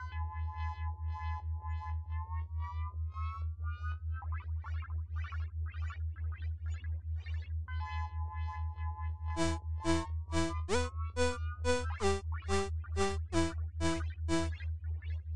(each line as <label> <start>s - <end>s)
bass 9.4s - 14.5s
synth 9.4s - 14.6s